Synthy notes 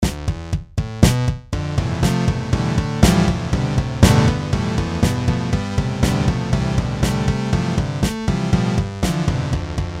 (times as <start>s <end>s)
4.0s 5.7s